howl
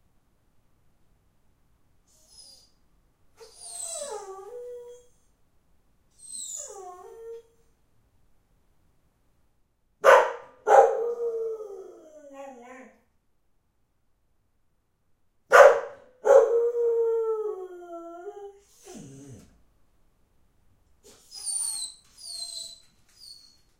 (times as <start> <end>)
3.5 5.1, 10.8 13.0, 16.3 19.5